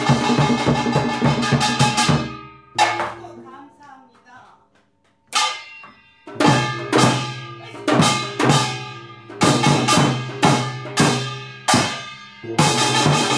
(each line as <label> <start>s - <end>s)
drum 0.0s - 3.6s
voice 3.0s - 4.7s
gong 5.4s - 13.3s
drum 6.3s - 13.3s
voice 7.6s - 8.8s